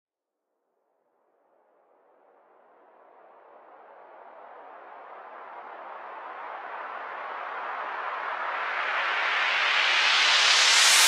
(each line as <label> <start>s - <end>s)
whoosh 10.3s - 11.0s